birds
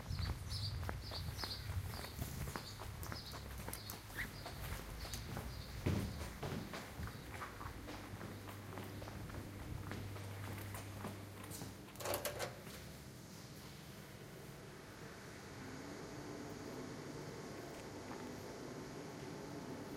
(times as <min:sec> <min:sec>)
0:00.0 0:08.5